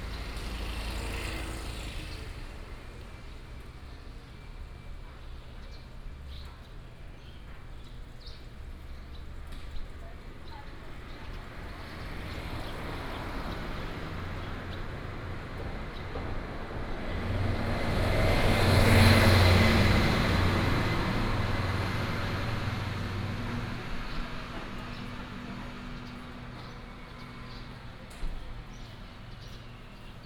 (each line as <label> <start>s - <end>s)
Traffic sound 0.0s - 30.2s